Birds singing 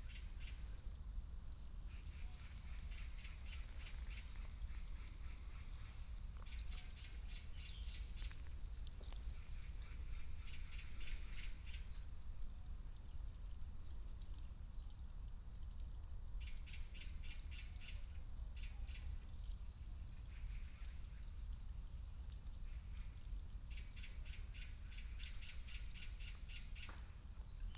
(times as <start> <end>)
1.9 12.2